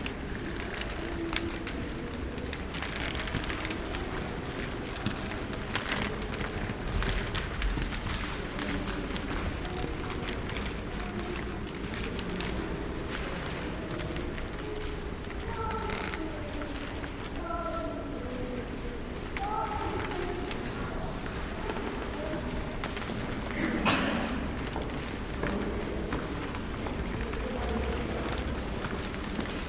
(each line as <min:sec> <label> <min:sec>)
0:00.0 creaky old parquet floor 0:17.7